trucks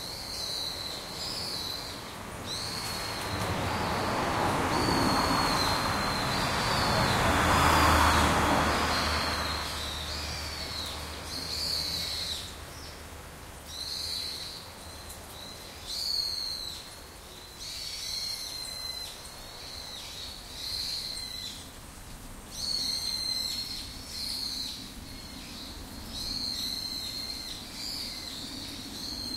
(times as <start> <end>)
2.2 12.7